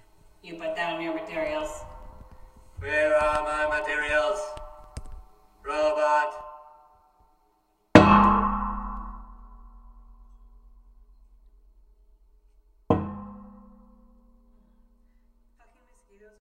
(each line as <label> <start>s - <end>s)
Talking next to a satellite dish 0.4s - 2.0s
Talking next to a satellite dish 2.8s - 4.7s
Talking next to a satellite dish 5.6s - 6.6s